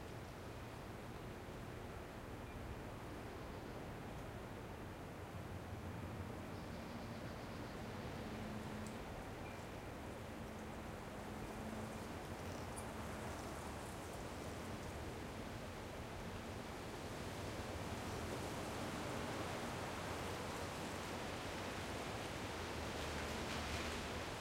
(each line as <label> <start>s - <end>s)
wind 0.0s - 24.4s